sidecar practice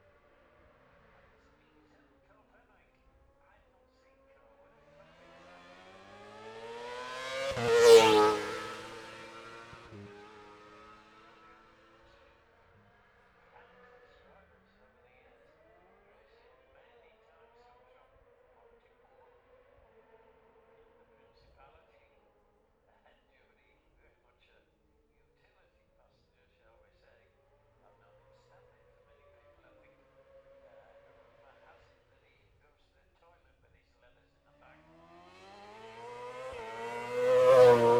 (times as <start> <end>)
0.0 21.5, 27.4 32.6, 34.3 37.9